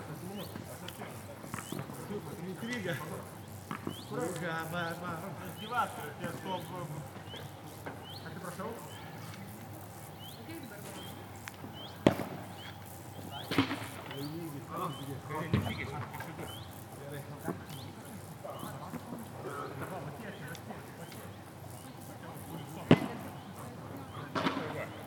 People playing tennis 0.0 - 25.0
insect sounds 0.0 - 25.0

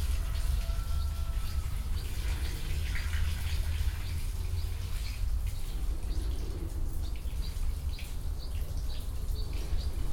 garden shower 0.0 - 10.1

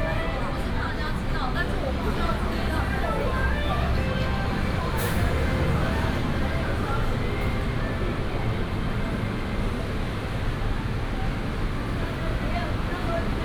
Traffic noise 0.0 - 13.4

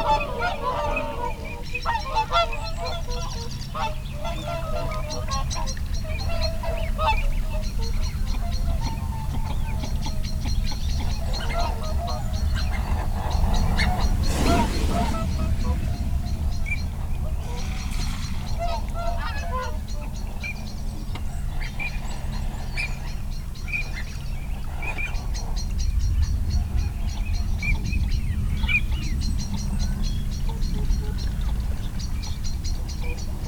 canada geese 0.0 - 20.6
barnacle geese 0.0 - 25.6
song thrush 10.5 - 21.0
redwing 11.6 - 20.2
wing noise from incoming birds 12.7 - 19.3
rook 12.8 - 19.4
shoveler 14.2 - 15.5

